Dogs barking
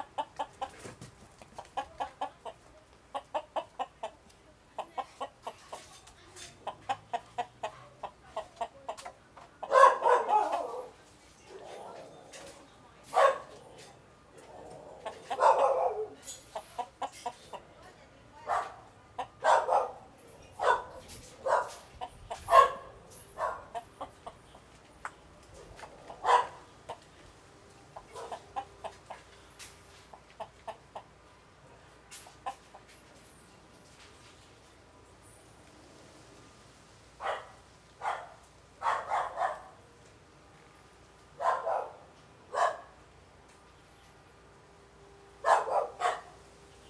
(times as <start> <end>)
9.6 12.5, 13.1 16.9, 18.4 24.2, 25.8 27.0, 28.0 28.7, 37.2 39.8, 41.4 43.0, 45.4 46.4